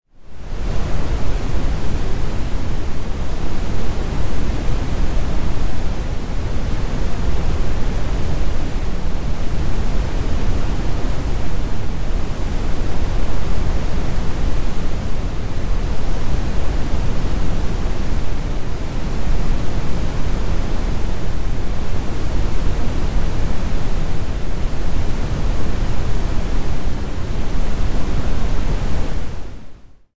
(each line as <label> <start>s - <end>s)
noise 0.1s - 30.1s